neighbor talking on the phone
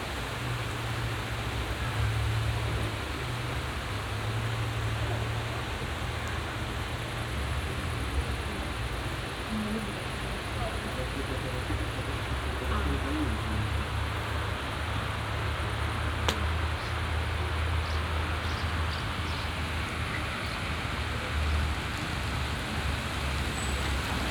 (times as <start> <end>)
9.4 14.3